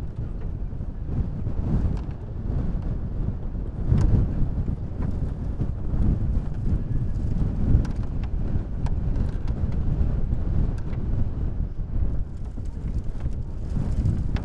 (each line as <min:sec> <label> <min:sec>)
0:00.0 heavy wind knocking around a pair of sleighs 0:14.4